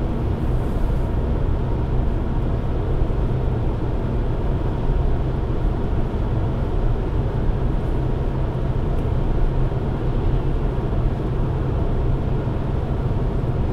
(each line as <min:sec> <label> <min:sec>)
0:00.0 fast driving of a diesel engine car 0:13.7